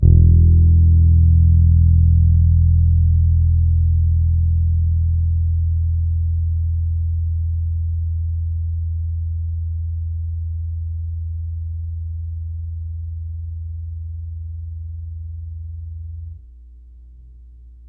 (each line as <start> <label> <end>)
0.0 old Fender P-Bass, with old strings 16.5